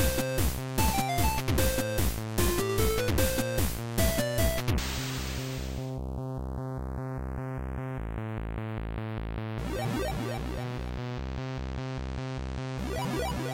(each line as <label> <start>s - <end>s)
chiptune 0.0s - 4.8s
chiptune 9.6s - 13.5s